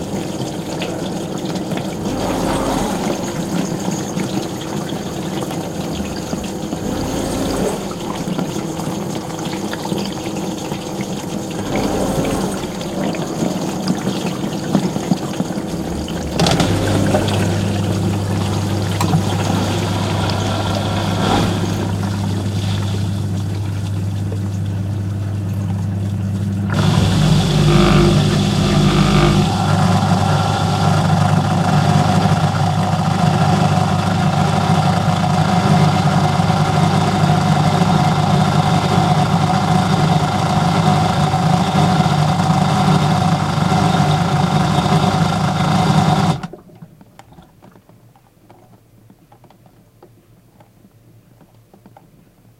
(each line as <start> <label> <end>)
0.0 running dishwasher 46.8